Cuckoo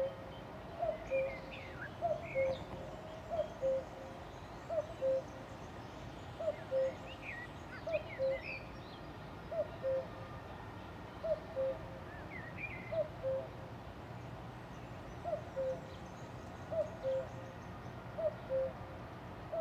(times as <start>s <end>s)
2.0s 3.9s, 4.7s 5.3s, 6.4s 7.0s, 9.5s 10.2s, 11.2s 11.8s, 12.9s 13.5s, 15.3s 15.9s, 16.7s 17.3s, 18.2s 18.8s